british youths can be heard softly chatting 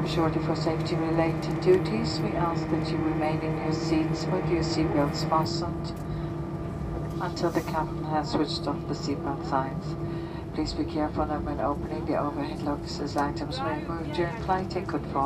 7.0 15.2

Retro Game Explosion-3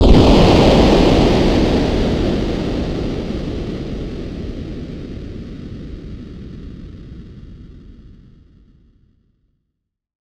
0.0 5.9

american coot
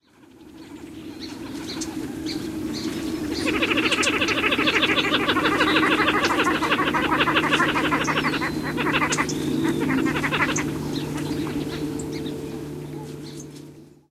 3.3 11.9

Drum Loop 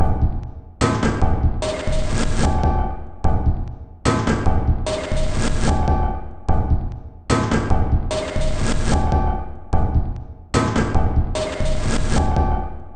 0.0 0.5

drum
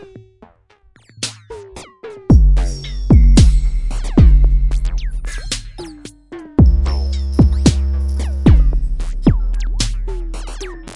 2.3 10.7

